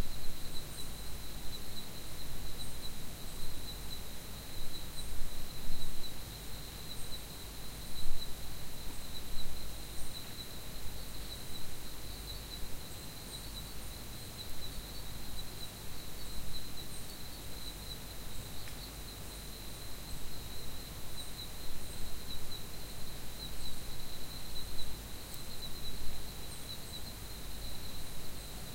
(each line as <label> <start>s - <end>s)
crickets 0.0s - 28.7s
trees 0.0s - 28.7s